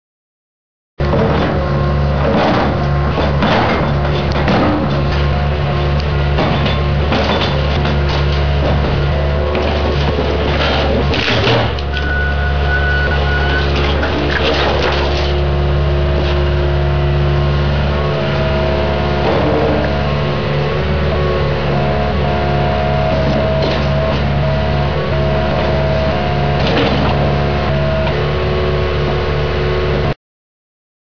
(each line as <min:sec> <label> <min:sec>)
0:01.0 treads clank 0:28.3
0:01.0 engine revs and idles 0:30.1
0:09.5 wood splinters 0:12.0
0:09.6 Bricks smash 0:11.8
0:11.9 safety beeps 0:13.8
0:13.6 wood splinters 0:15.4